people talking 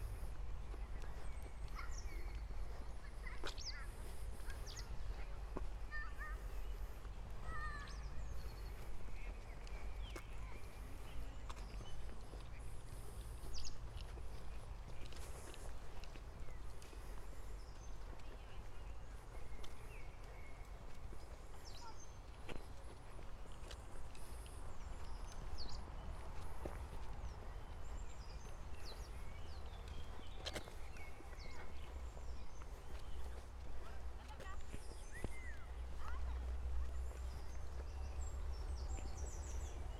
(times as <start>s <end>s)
0.6s 6.8s, 7.4s 13.0s, 21.6s 22.2s, 33.7s 37.5s